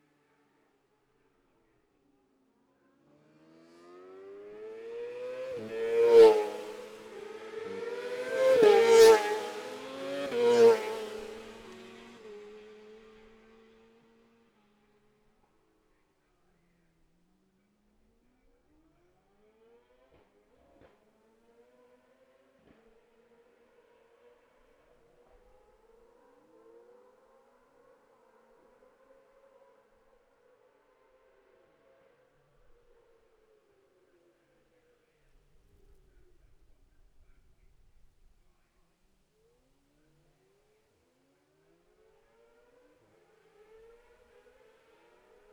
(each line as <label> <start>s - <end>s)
Sidecars 5.1s - 14.0s